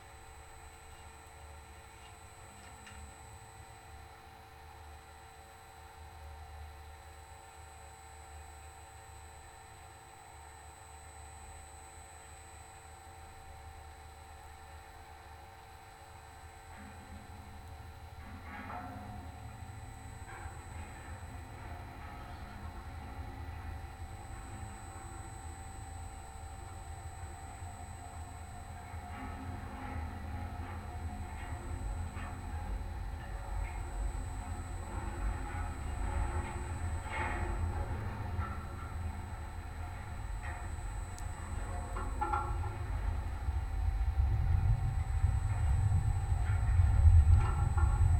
surrounding electromagnetic field 0:15.9 - 0:48.1
big metallic light tower 0:17.6 - 0:48.1

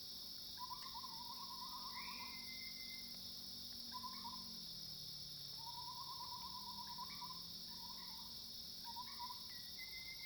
Cicadas cries 0:00.5 - 0:04.7
Cicadas cries 0:05.3 - 0:10.2

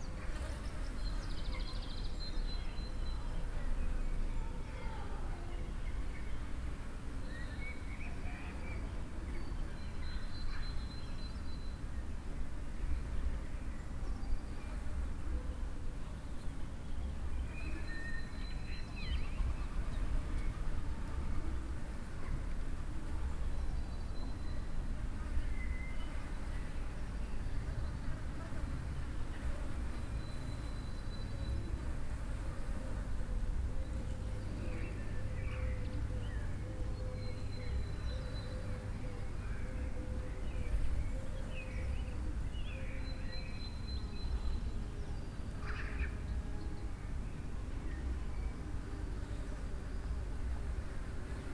flies gathering here in the warmth 0:00.0 - 0:03.6
flies gathering here in the warmth 0:18.9 - 0:47.0
flies gathering here in the warmth 0:47.8 - 0:51.5

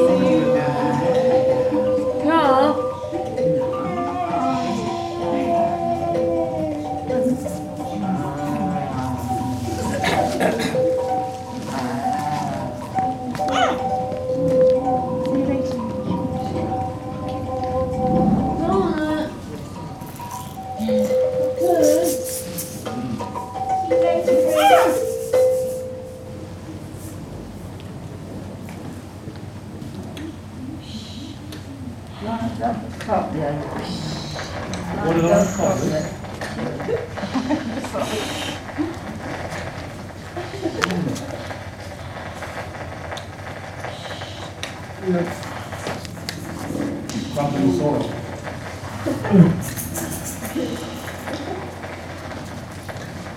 ambient jamming 0:00.0 - 0:28.5

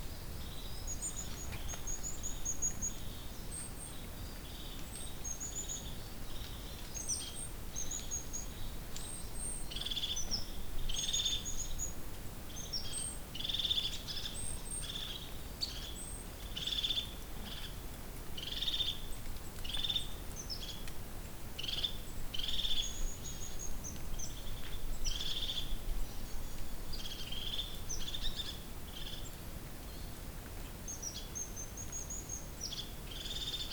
drips down on fallen leaves 0:16.2 - 0:22.2

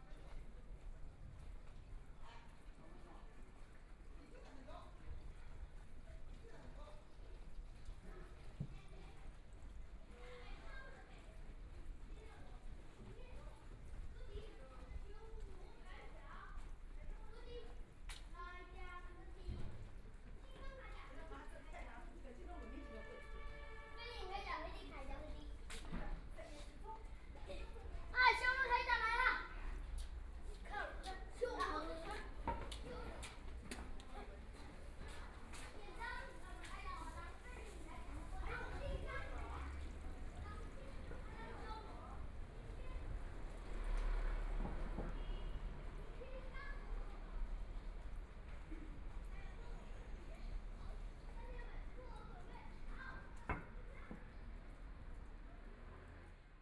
Pedestrians 0:00.0 - 0:56.6
Walking in the noisy street 0:00.0 - 0:56.6
Traffic Sound 0:22.6 - 0:56.6

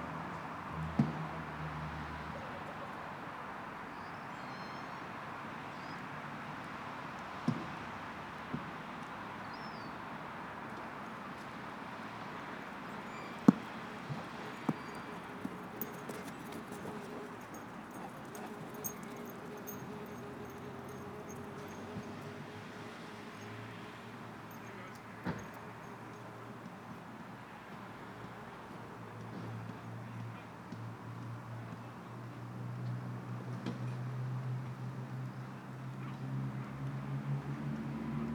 Traffic 0:00.0 - 0:38.3
voices 0:13.0 - 0:22.5
dogs running after balls 0:13.5 - 0:21.4

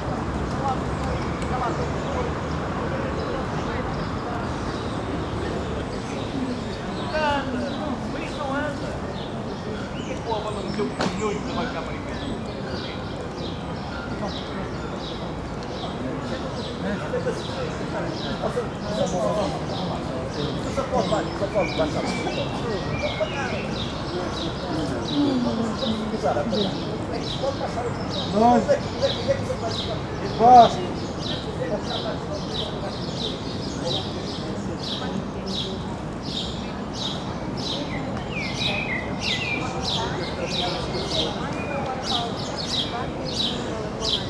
people 0:00.0 - 0:44.2

